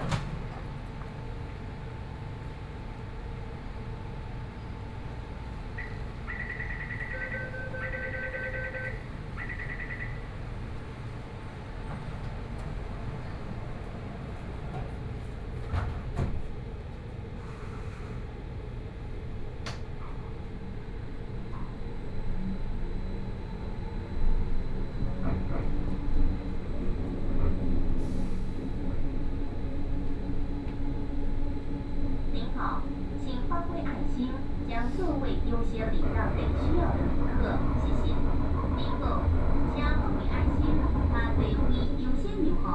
Wenshan Line (Taipei Metro) 0:00.0 - 0:42.7

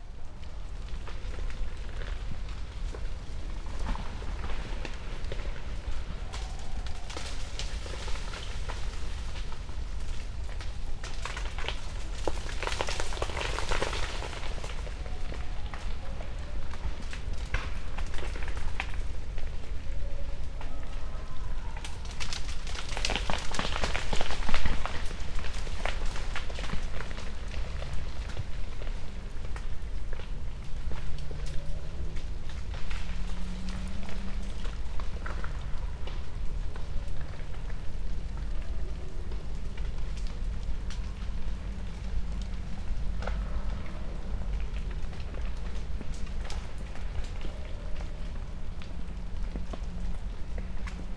ice flux 0:01.2 - 0:16.0

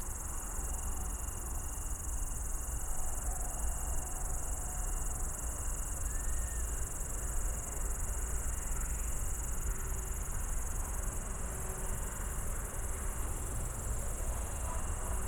Italian tree crickets with its low-pitched sounds 0:00.0 - 0:15.2
intense cricket sounds 0:00.0 - 0:15.2
S-Bahn train 0:06.0 - 0:15.2

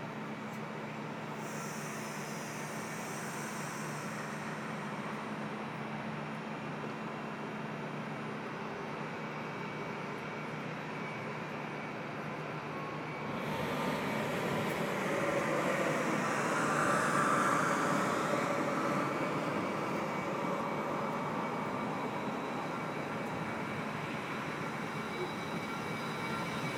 a train is leaving the station 0:00.0 - 0:26.7
Very heavy construction works 0:13.0 - 0:26.7

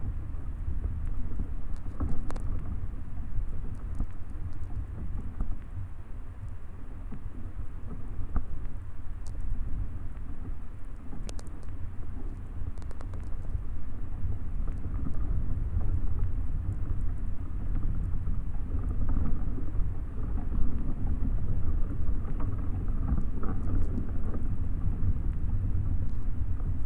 very strong wind 0:00.0 - 0:26.8

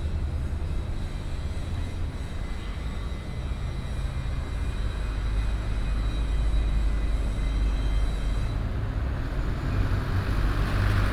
Traffic sound 0:08.1 - 0:11.1

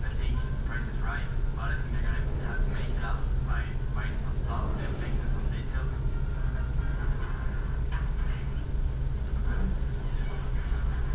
Television on in the background 0:00.0 - 0:11.1

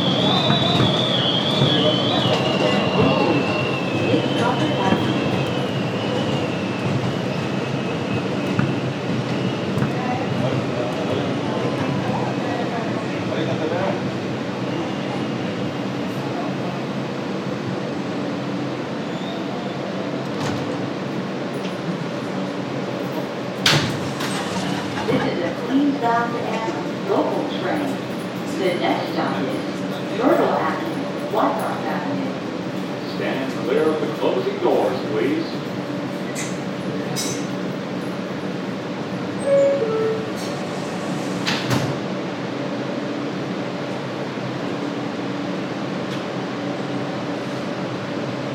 Train announcements 0:00.0 - 0:06.9
M Train 0:00.0 - 0:48.5
wind inside the M train 0:00.0 - 0:48.5
Train announcements 0:24.4 - 0:36.2
Train announcements 0:39.1 - 0:41.5

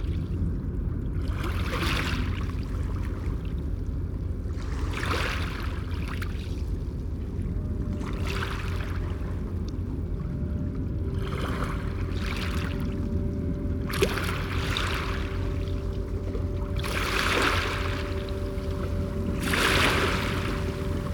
boats 0:00.0 - 0:21.1
waves 0:00.0 - 0:21.1

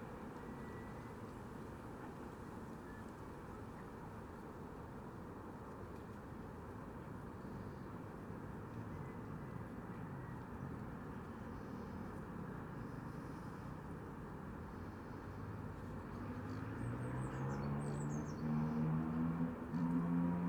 traffic noise 0:13.9 - 0:20.4
Bird song 0:16.5 - 0:18.5

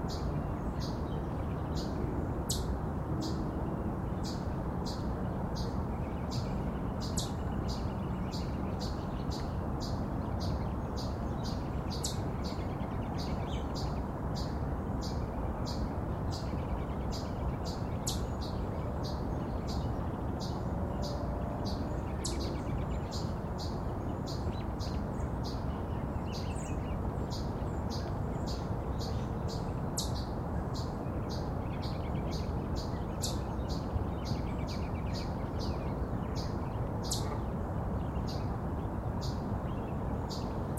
Birds 0:00.0 - 0:40.7
water 0:00.0 - 0:40.7
wind 0:00.0 - 0:40.7

